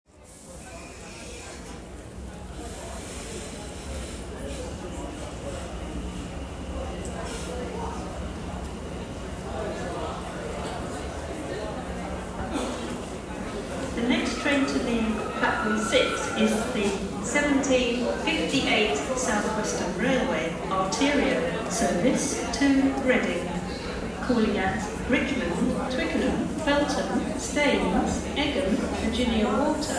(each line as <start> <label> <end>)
0.1 Train Platform Announcements 29.9
0.1 trains arriving and departing 29.9